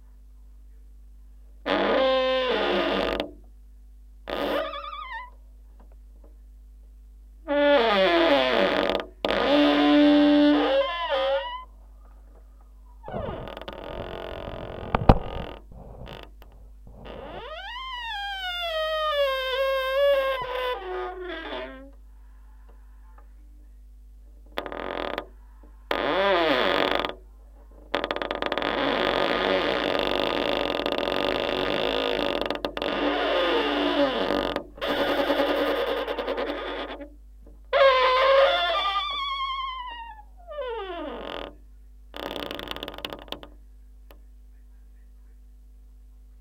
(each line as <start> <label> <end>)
1.7 Creaking Door 3.4
4.3 Creaking Door 5.4
7.5 Creaking Door 11.7
13.0 Creaking Door 22.0
24.5 Creaking Door 27.2
27.8 Creaking Door 41.6
42.2 Creaking Door 43.6